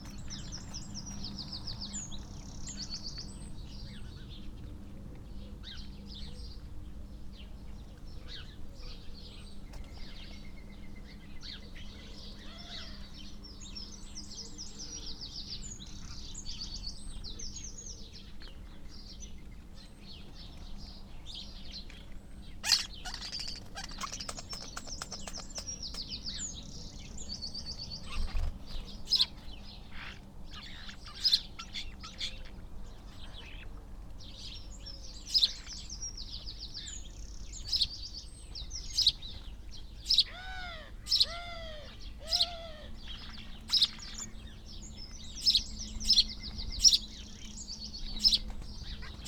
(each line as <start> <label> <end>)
0.0 background noise from traffic 49.2
0.0 dry rolling and rippling calls and song from the starlings 49.2
12.2 crow 13.2
22.3 collared dove 27.1
22.6 magpie 25.9
22.6 wood pigeon 26.5
40.2 crow 44.0